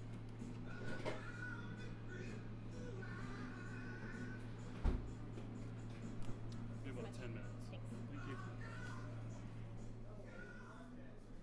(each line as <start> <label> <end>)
7.8 worker singing along 9.6